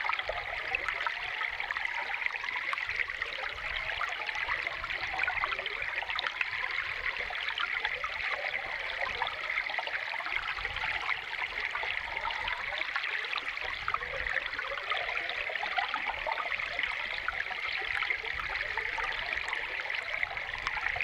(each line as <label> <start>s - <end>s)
Water spring 0.0s - 21.0s